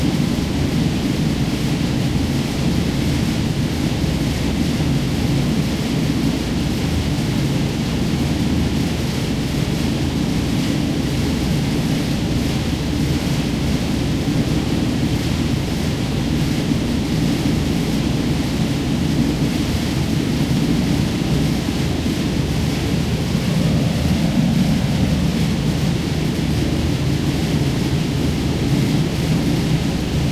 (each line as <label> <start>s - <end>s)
air circulation vent 0.0s - 30.3s